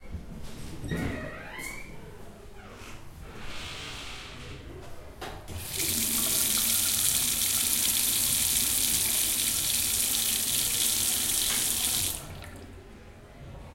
washing hands 0:05.6 - 0:12.7

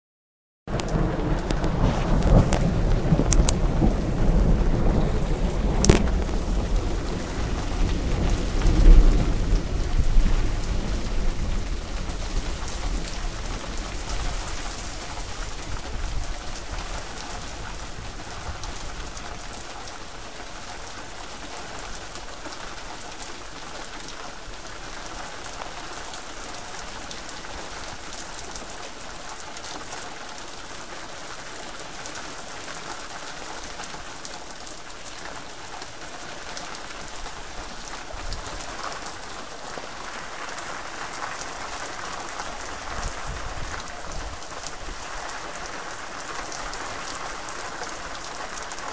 loud overhead thunder 0:00.7 - 0:19.5
Heavy rain 0:00.7 - 0:48.9

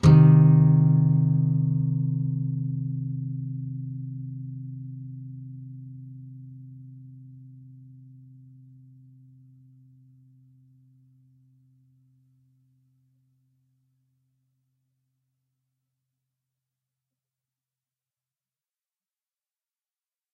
nylon guitar 0:00.0 - 0:10.6

